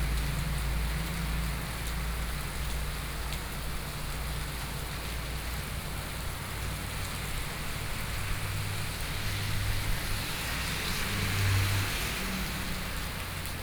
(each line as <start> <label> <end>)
4.6 Traffic Sound 13.6